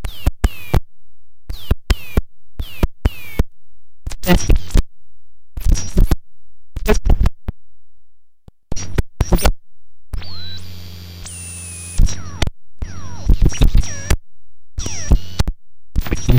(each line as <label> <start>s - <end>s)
crazy radio scratching 4.1s - 4.8s
crazy radio scratching 5.6s - 6.2s
crazy radio scratching 6.8s - 7.3s
crazy radio scratching 8.8s - 9.5s
crazy radio scratching 10.2s - 14.2s
crazy radio scratching 14.8s - 16.3s